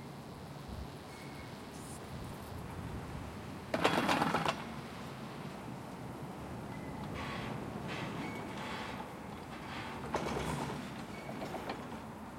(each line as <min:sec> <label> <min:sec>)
0:03.7 cableway 0:04.8
0:06.7 cableway 0:12.2